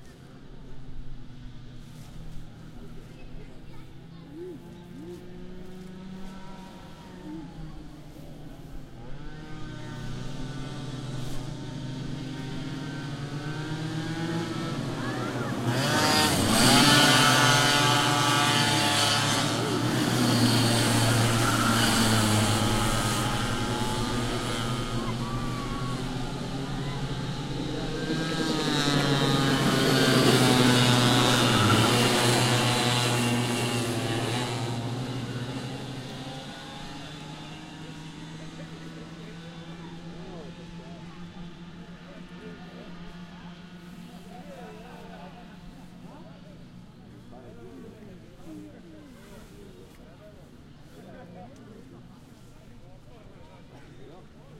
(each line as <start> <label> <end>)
0.0 go karts 54.5
2.5 children 38.8
2.8 voice 5.4
14.2 voice 34.5
35.7 voice 54.5